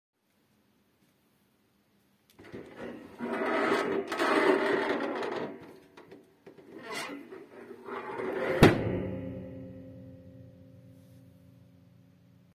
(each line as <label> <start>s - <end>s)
Opening and closing the bunk of my squeaky dorm bed 2.4s - 9.3s